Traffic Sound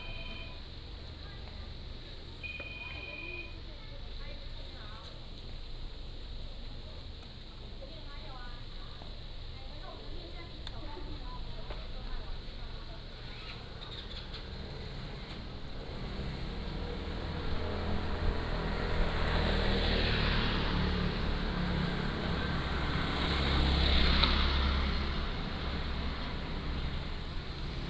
0:09.8 0:27.8

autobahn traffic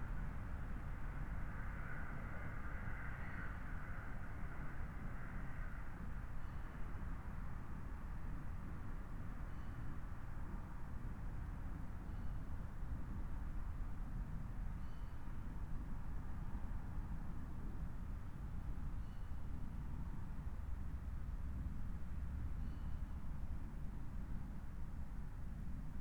0:00.0 0:08.1

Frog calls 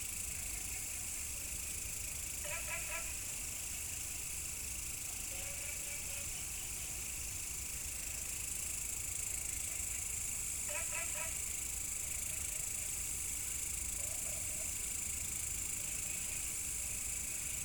0:02.4 0:03.3, 0:10.6 0:11.5

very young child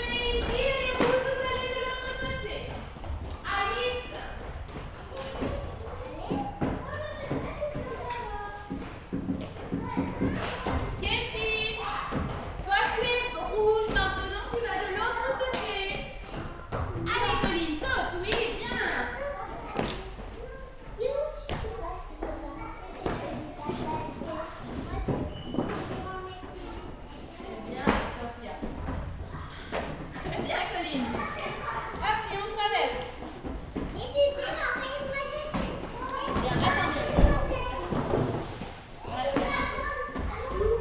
0:33.8 0:38.4

